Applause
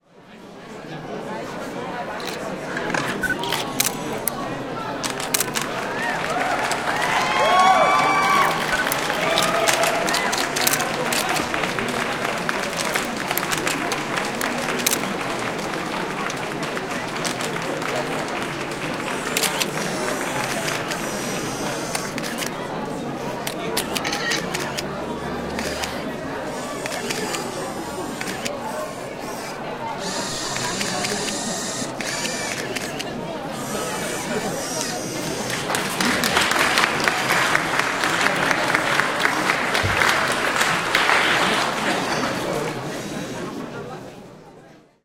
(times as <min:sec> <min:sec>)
0:05.3 0:21.4, 0:35.4 0:43.0